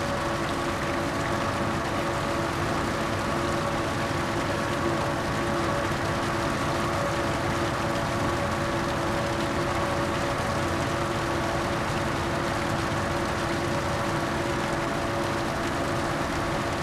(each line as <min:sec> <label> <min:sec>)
0:00.0 pump separates concrete and water 0:16.8